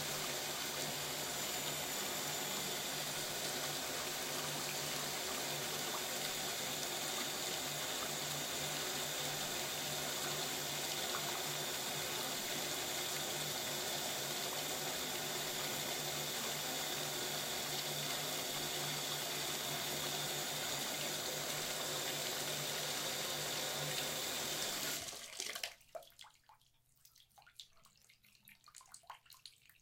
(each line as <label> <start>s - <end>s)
bathtub water run2 0.0s - 29.8s